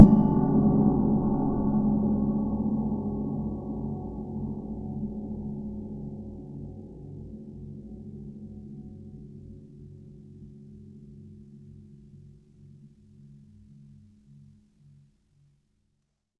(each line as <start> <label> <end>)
0.0 Gong Cymbal 9.2